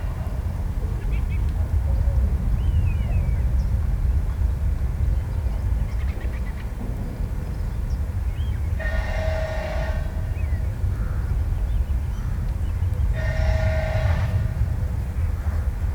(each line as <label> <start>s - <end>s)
distant traffic 7.1s - 15.9s